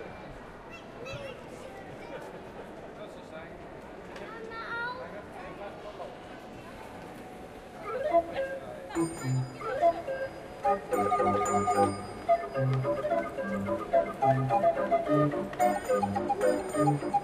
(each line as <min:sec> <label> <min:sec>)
0:07.8 Street organ playing a popular tune 0:17.2